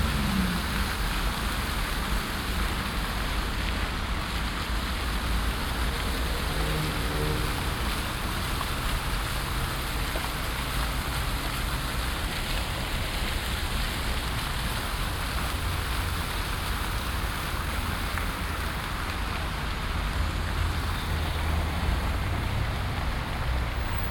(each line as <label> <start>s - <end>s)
buses 0.0s - 24.1s
fountains 0.0s - 24.1s
traffic 0.0s - 24.1s
bikes engines 4.8s - 24.1s